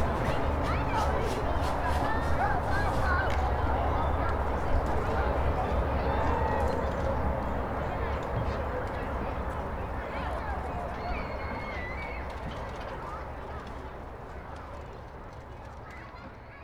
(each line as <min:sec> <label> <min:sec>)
0:00.0 Children playing 0:07.2
0:00.0 people walking around the park 0:16.6